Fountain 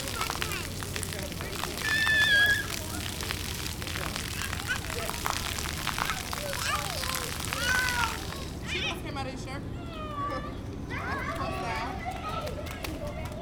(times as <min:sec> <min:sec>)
0:00.0 0:08.7